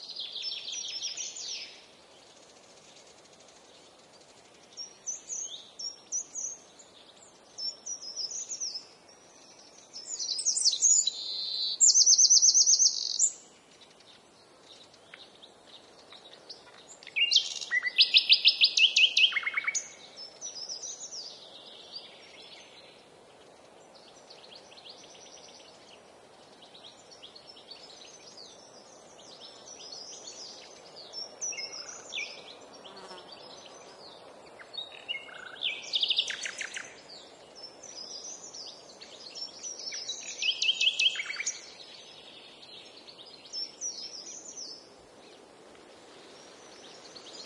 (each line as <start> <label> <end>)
0.0 breeze on trees 47.4
0.0 short Nightingale passage 47.4
9.5 Blackbird 22.9
26.6 Blackbird 44.9